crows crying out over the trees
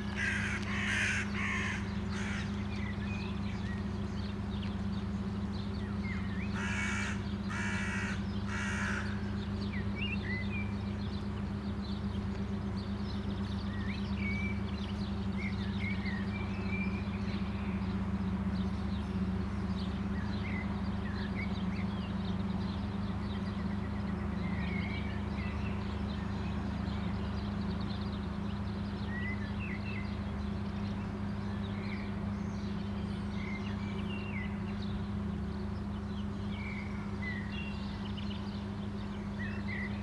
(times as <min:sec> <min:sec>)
0:00.0 0:03.3, 0:06.1 0:10.0